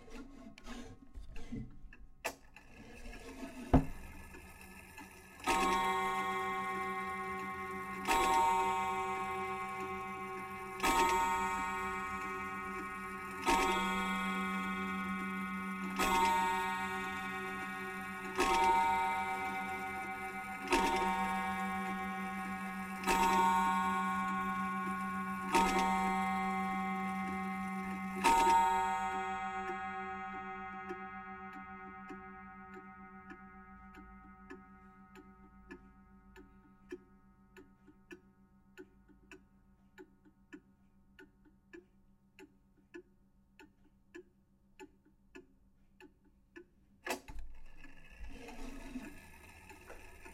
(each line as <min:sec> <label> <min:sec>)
0:01.4 ticking noise 0:50.3
0:02.8 wall clock chiming 0:39.4
0:48.1 wall clock chiming 0:50.3